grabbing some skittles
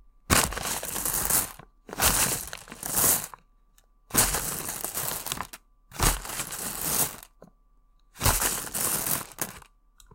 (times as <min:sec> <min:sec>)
0:00.3 0:03.4, 0:04.1 0:07.4, 0:08.2 0:09.7